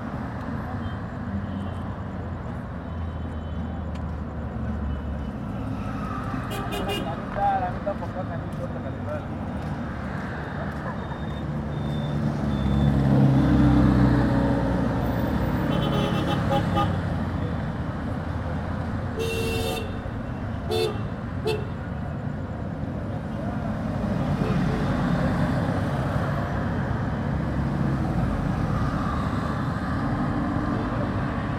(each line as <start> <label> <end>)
0.0 Traffic at the Square 31.5